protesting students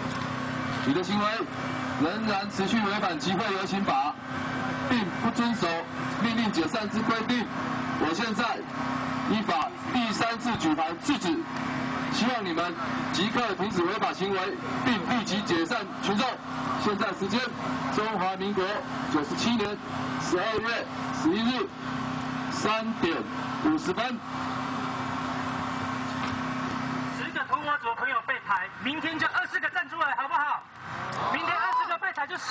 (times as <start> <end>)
28.7 32.5